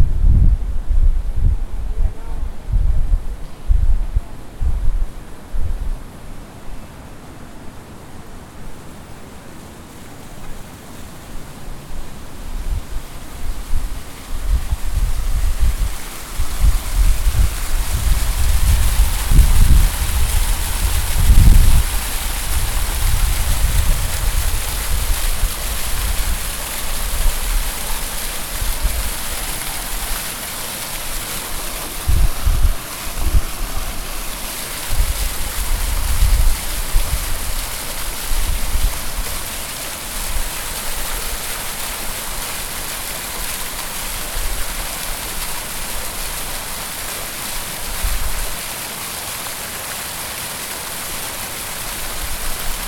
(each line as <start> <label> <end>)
0.0 Pioneer fountain recording 52.8